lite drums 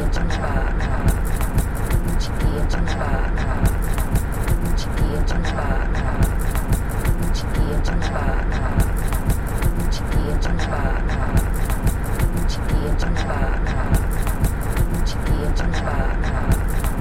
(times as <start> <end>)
1.0 2.7, 3.6 5.3, 6.2 7.7, 8.7 10.4, 11.3 13.0, 13.9 15.6, 16.4 17.0